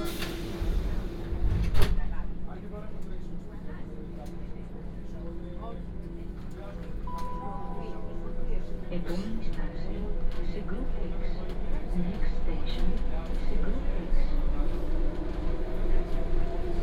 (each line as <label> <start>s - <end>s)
Metro ride 0.0s - 16.8s